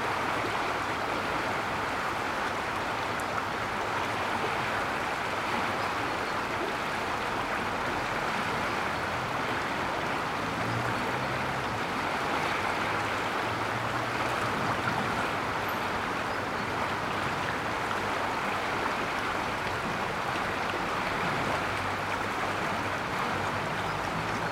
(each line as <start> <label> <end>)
0.0 River flow 24.5